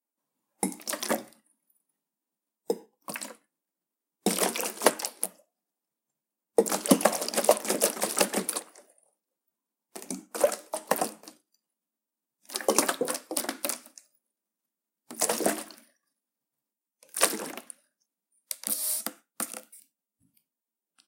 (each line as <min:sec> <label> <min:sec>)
0:04.3 water in bottle 0:05.4
0:06.6 water in bottle 0:08.9
0:18.5 water in bottle 0:19.8